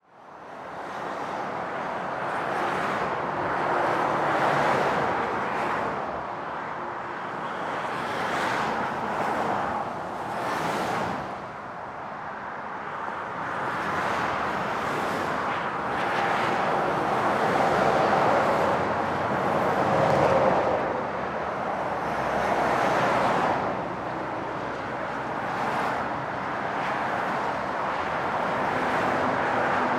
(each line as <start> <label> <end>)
0.0 traffic 29.9
0.4 trucks 29.9